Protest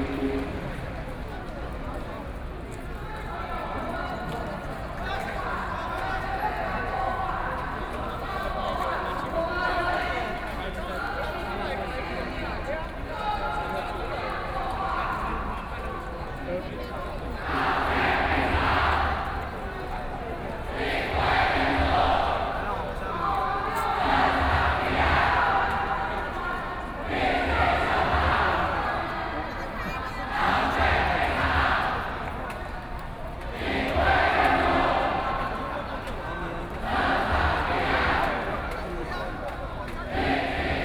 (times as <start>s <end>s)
17.2s 40.8s